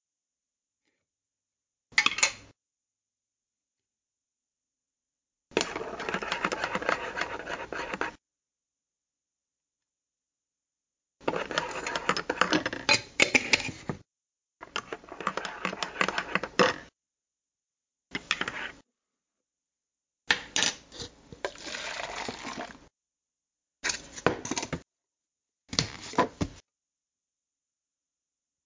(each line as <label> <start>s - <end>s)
Metal Spoon Stirring Sugar into cup of coffee 5.6s - 8.1s
Metal Spoon Stirring Sugar into cup of coffee 11.2s - 12.6s
Metal Spoon Stirring Sugar into cup of coffee 14.7s - 16.6s
pouring coffee into take-away cup 21.4s - 22.8s